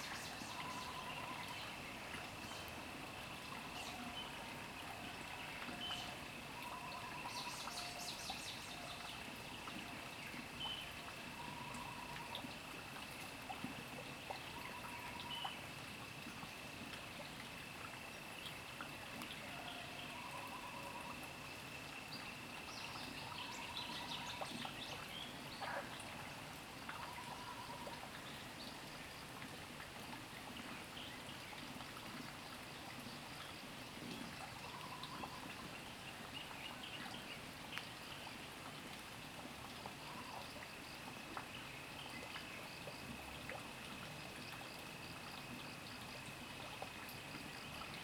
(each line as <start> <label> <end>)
0.0 water streams 48.0
39.4 Sound of insects 48.0